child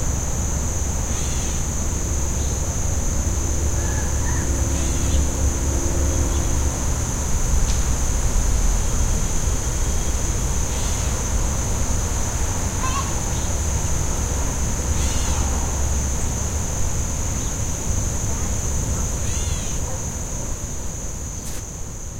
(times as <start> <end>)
12.8 13.5